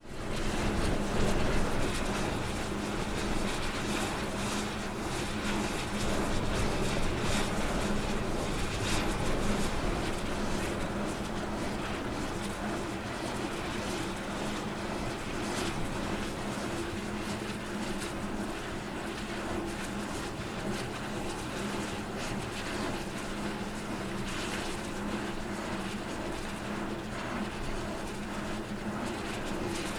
wind 0:00.0 - 0:29.9
power generating windmill turning 0:00.0 - 0:29.9

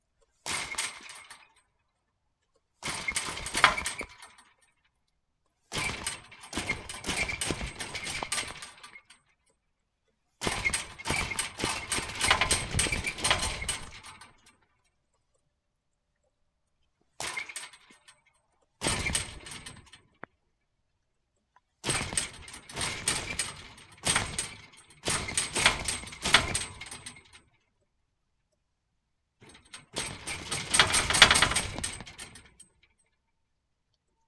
Hitting an iron fence softly and then hard 0:10.5 - 0:14.6
Hitting an iron fence softly and then hard 0:29.4 - 0:32.8

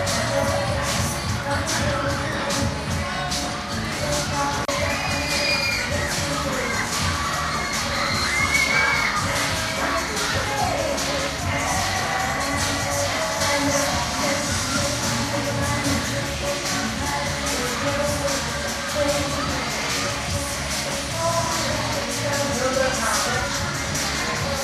children 0:00.0 - 0:24.6
few hundred people attending 0:00.0 - 0:24.6
screams 0:04.7 - 0:10.7

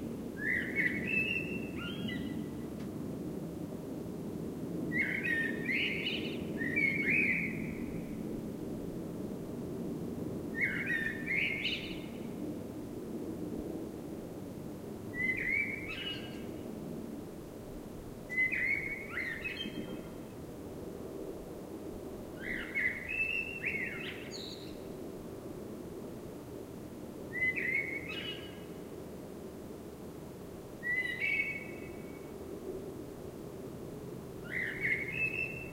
blackbird singing 0:00.4 - 0:02.4
blackbird singing 0:05.0 - 0:07.8
blackbird singing 0:10.6 - 0:12.0
blackbird singing 0:15.2 - 0:16.5
blackbird singing 0:18.3 - 0:20.0
blackbird singing 0:22.4 - 0:24.7
blackbird singing 0:27.4 - 0:28.6
blackbird singing 0:30.8 - 0:31.9
blackbird singing 0:34.5 - 0:35.7

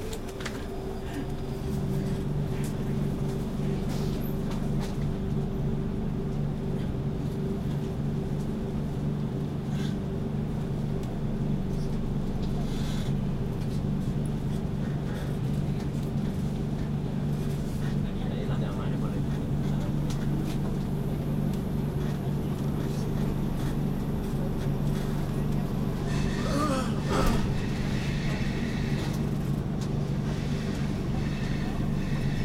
train sounds 0:00.0 - 0:32.4

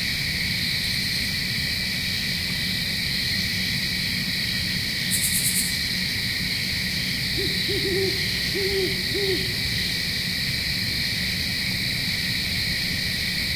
crickets 0:00.0 - 0:13.5
Owl hooting 0:07.3 - 0:10.1

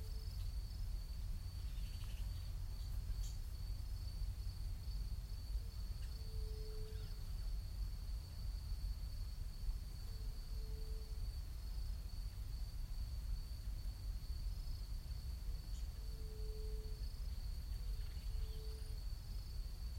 faint wind overhead 0:00.0 - 0:19.9
insects 0:00.0 - 0:19.9
birds 0:01.5 - 0:03.4
birds 0:17.3 - 0:19.0

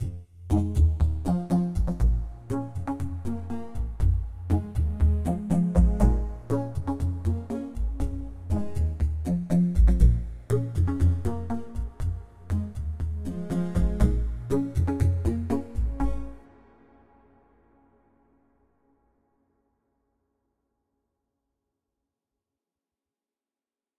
synth 0:00.0 - 0:17.0

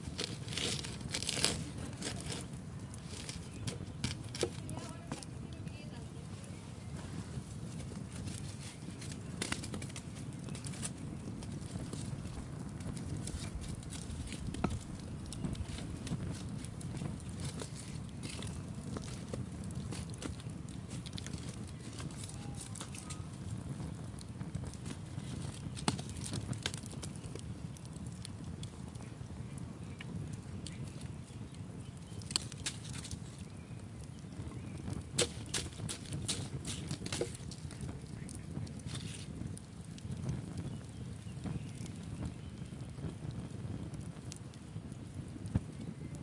Poking the wood in the fire with a stick 0:00.0 - 0:46.2

